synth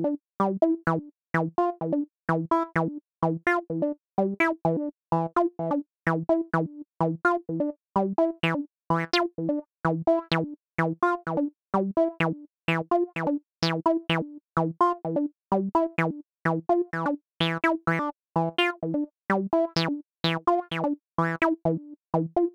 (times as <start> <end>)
12.7 14.2, 17.0 18.8, 19.8 21.5